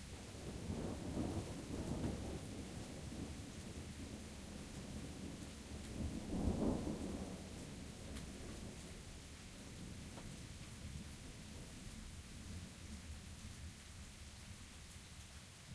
soft thunder 0.0 - 13.1
Rain starts about half way in 0.0 - 15.7

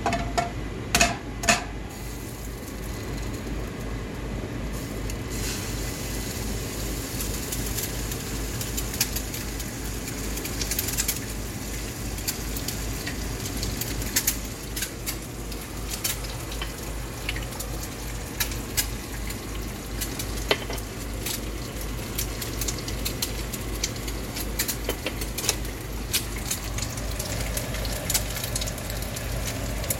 sizzles 1.9 - 29.9

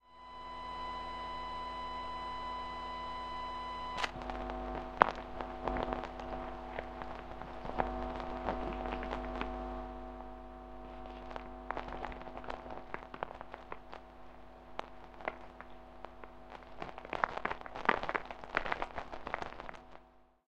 Ground loop 3.9 - 19.9
intermittent clicks 3.9 - 20.1

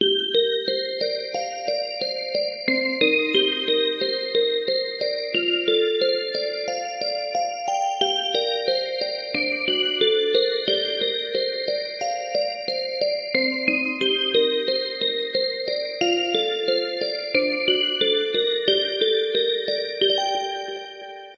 Synth Bells 0.0 - 21.3

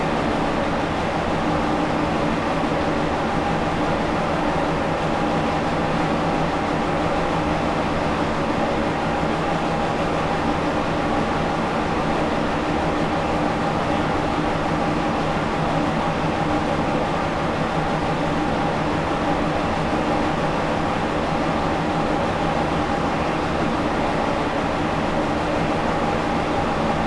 Large ventilation system 0.0 - 27.0

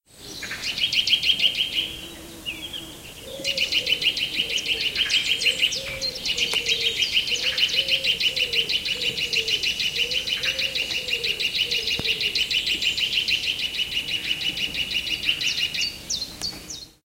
Nuthatch Singing 0.4 - 17.0

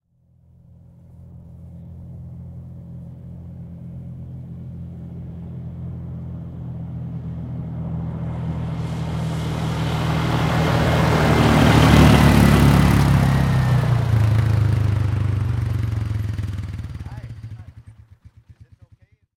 ATV pass by fast close 0.3 - 19.1

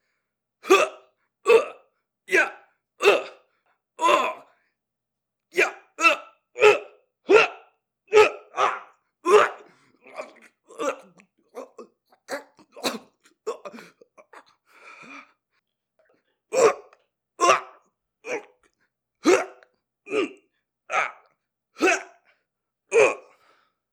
Henchman #5 Fight Vocalizations 0.6 - 3.4
Henchman #5 Fight Vocalizations 4.0 - 4.5
Henchman #5 Fight Vocalizations 5.6 - 14.5
Henchman #5 Fight Vocalizations 16.5 - 18.6
Henchman #5 Fight Vocalizations 19.2 - 22.2
Henchman #5 Fight Vocalizations 22.9 - 23.4

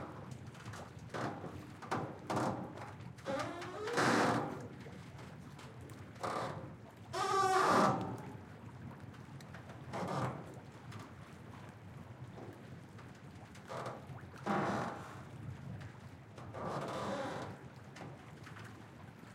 Ferry pontoon pier squeaking in light waves 3.2 - 4.6

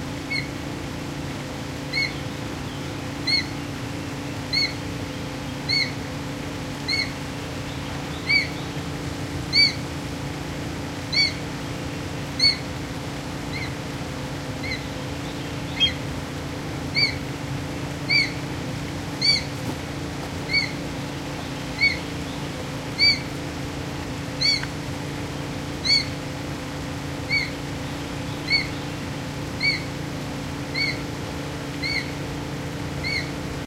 hum in the background 0.0 - 33.6
Calls from an Ornate Hawk-eagle 0.2 - 0.6
Calls from an Ornate Hawk-eagle 1.8 - 3.8
Calls from an Ornate Hawk-eagle 4.4 - 8.8
Calls from an Ornate Hawk-eagle 9.4 - 10.0
Calls from an Ornate Hawk-eagle 11.0 - 12.8
Calls from an Ornate Hawk-eagle 13.4 - 13.9
Calls from an Ornate Hawk-eagle 14.5 - 16.2
Calls from an Ornate Hawk-eagle 16.8 - 23.6
Calls from an Ornate Hawk-eagle 24.2 - 24.8
Calls from an Ornate Hawk-eagle 25.6 - 26.3
Calls from an Ornate Hawk-eagle 27.2 - 32.3
Calls from an Ornate Hawk-eagle 33.0 - 33.4

